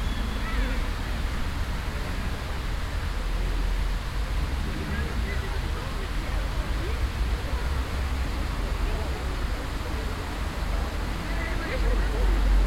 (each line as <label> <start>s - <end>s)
Noise of a water game 0.0s - 12.6s
traffic 0.0s - 12.6s
People with children 4.6s - 12.6s